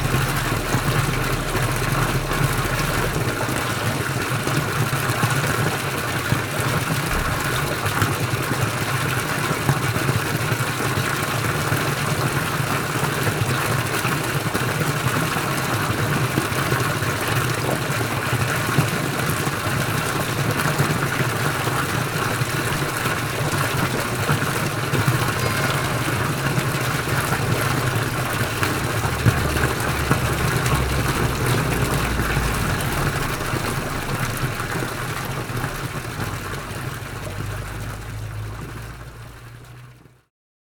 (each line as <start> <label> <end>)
0.0 fountain 40.3